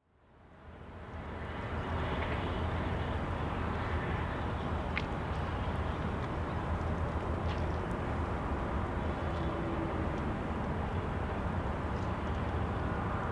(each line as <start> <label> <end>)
0.0 Urban noise across the river 13.3